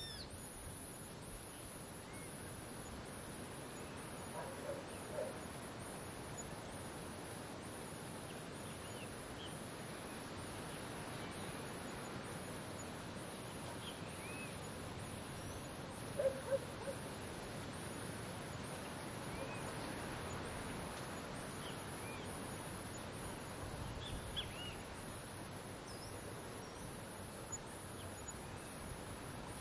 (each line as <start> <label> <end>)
0.0 birds 0.6
0.0 cicadas 29.6
0.0 wind 29.6
8.2 birds 25.1